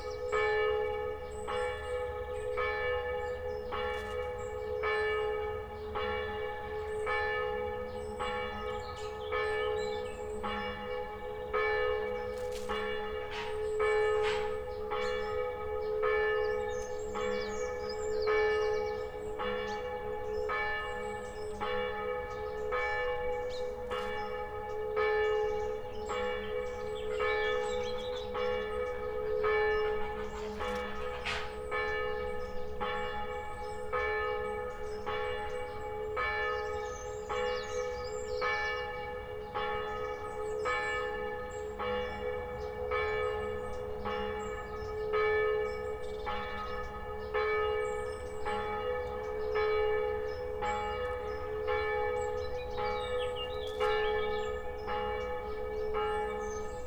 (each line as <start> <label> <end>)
0.0 church bells 56.8